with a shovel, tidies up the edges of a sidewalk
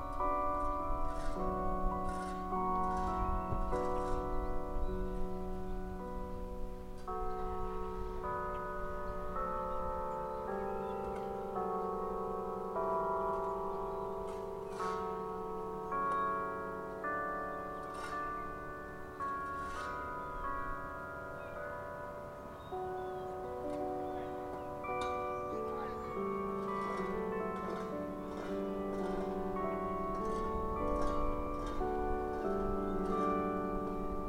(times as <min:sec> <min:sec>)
0:00.0 0:05.3, 0:14.3 0:16.2, 0:17.3 0:21.5, 0:23.7 0:34.2